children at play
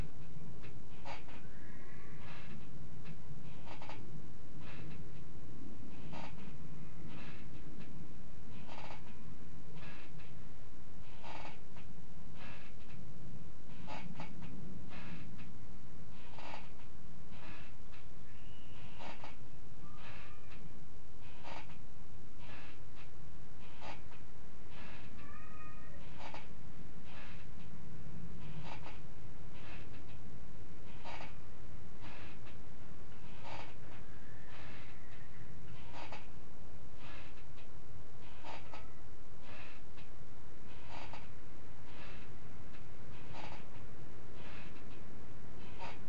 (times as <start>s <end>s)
25.2s 26.2s